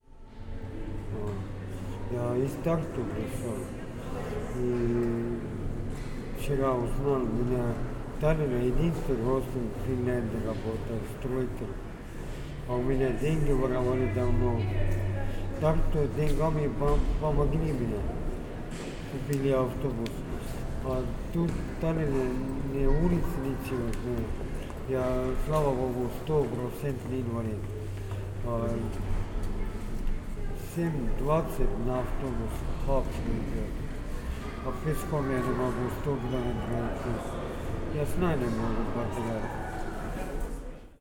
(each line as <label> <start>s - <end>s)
man talking in russian 1.0s - 11.8s
man talking in russian 12.6s - 18.3s
man talking in russian 19.0s - 29.1s
man talking in russian 30.6s - 33.8s
man talking in russian 34.6s - 40.0s